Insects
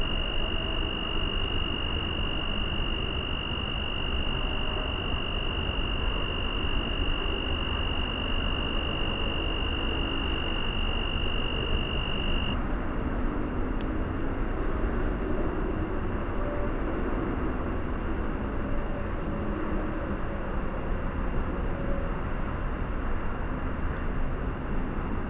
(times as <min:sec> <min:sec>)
0:00.0 0:12.6